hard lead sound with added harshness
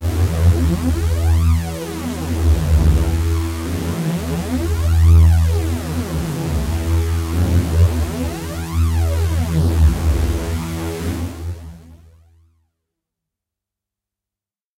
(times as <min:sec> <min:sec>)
0:00.0 0:11.8